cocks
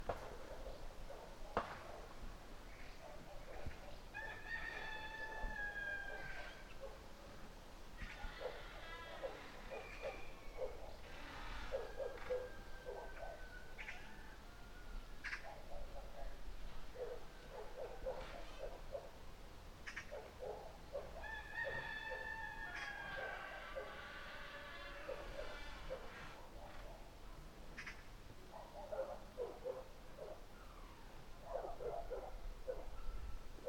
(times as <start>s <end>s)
4.1s 6.7s, 21.2s 26.3s